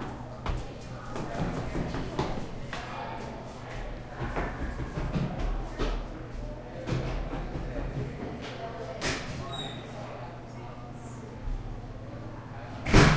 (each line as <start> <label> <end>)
0.0 distant voices echo 13.1
0.0 ventilation hum 13.1
0.4 kid run by down stairs 2.9
3.7 kid run by down stairs 8.4